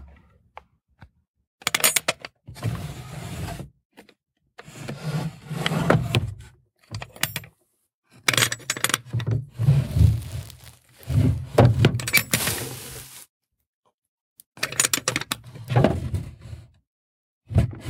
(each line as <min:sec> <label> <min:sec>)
0:09.6 Dresser Drawers Open and Close 0:13.2
0:12.1 light sliding sounds 0:13.3